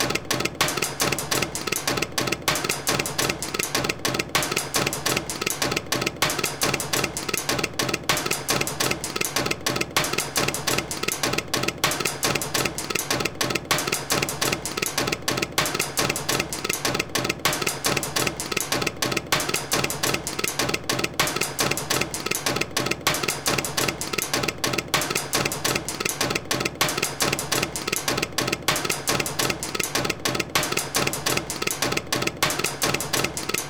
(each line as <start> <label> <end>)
0.0 constantly noisy mechanical contraption 33.6